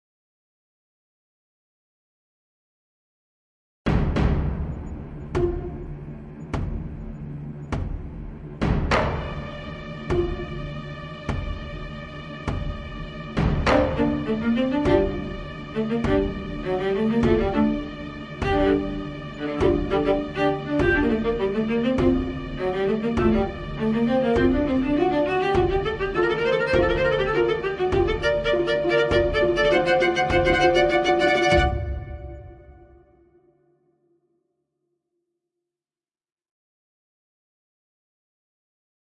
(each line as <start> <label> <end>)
3.9 drums 33.1
4.9 violins 32.9
13.7 viola 32.7